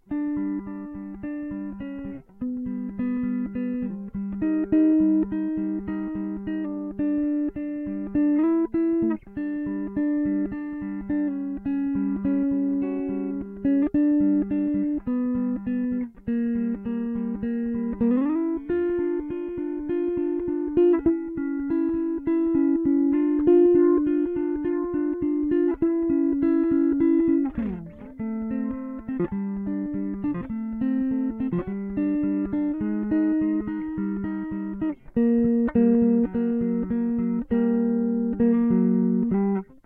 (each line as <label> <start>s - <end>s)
melodies being played on acoustic guitar 0.0s - 39.8s